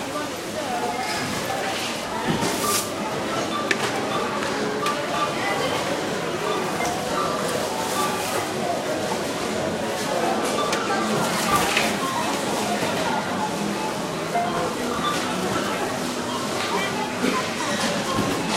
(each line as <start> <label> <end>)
0.0 items being scanned 18.5
0.0 people talking 18.5
0.0 self-serve checkouts 18.5